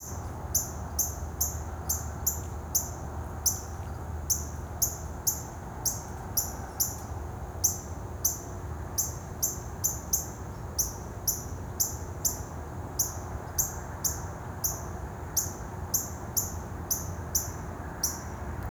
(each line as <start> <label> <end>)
9.0 Bird Chirps 18.3